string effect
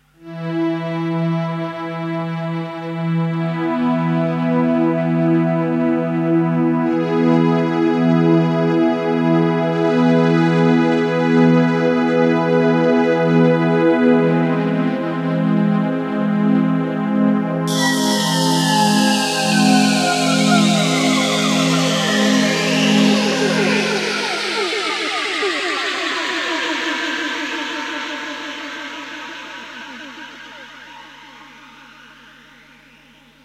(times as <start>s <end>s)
17.7s 30.9s